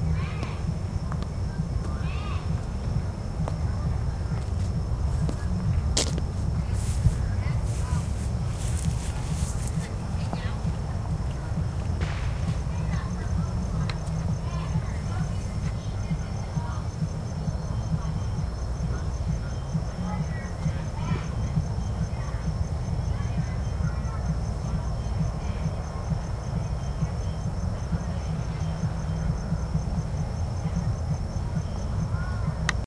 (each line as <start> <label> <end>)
0.0 party in the distance 32.8
11.9 firecrackers 13.0
12.0 fireworks 12.7